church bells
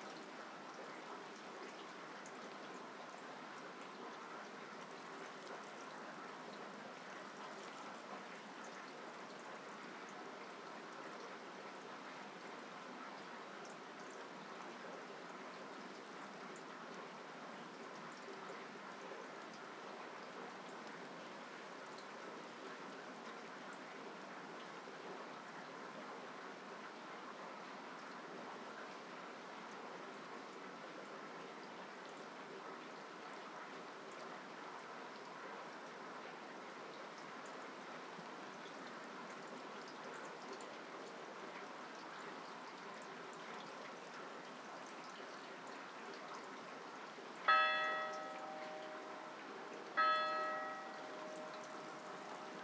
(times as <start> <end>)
47.5 52.6